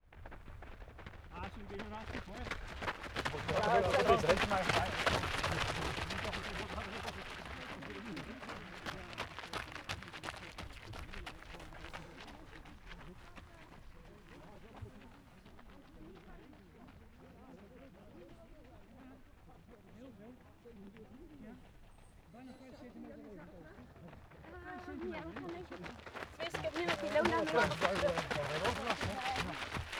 0.0s Group runnibng 29.9s

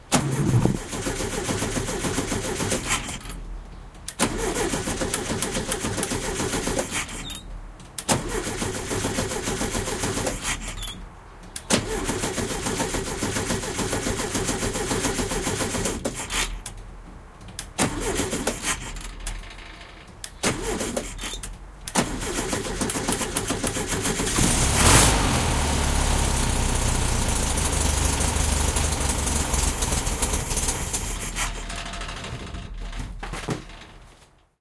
0.0s VW Bug Engine Cranking 16.8s
17.5s VW Bug Engine Cranking 34.1s

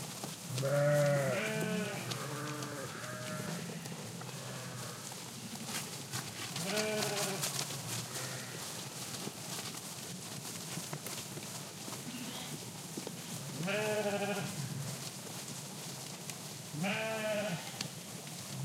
0.0s movement in the gras 18.6s

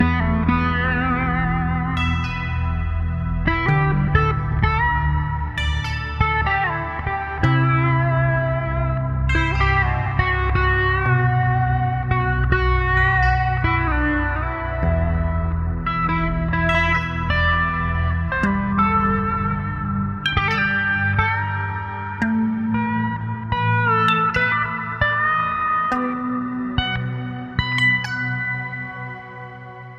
0.0s guitar 29.9s

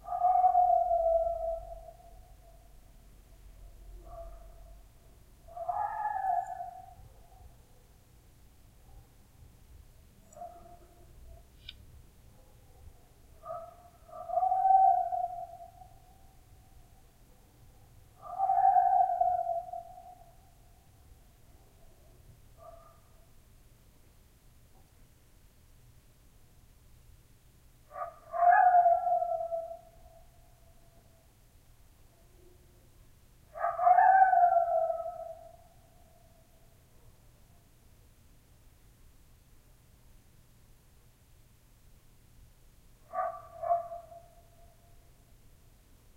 0.0s coyote 2.8s
3.7s coyote 8.0s
12.5s coyote 17.1s
18.2s coyote 20.7s
27.9s coyote 31.3s
33.5s coyote 36.8s

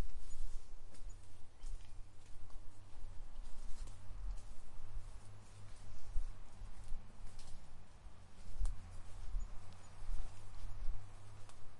0.0s Steps 11.7s
0.0s birds 11.7s

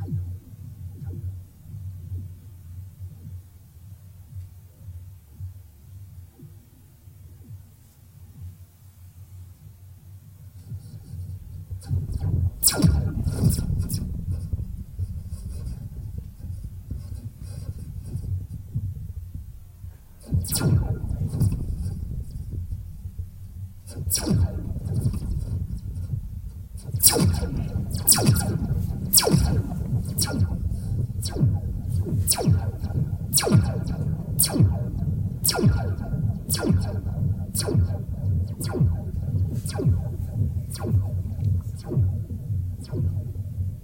11.8s Laser Shots 18.2s
20.2s Laser Shots 22.8s
23.8s Laser Shots 26.2s
26.8s Laser Shots 43.6s

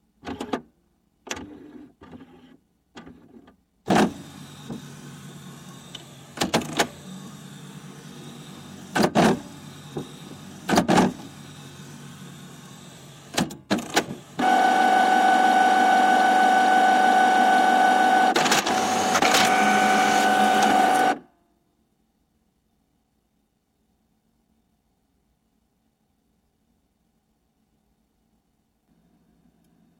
0.2s all-in-one printer 0.7s
1.3s all-in-one printer 21.3s

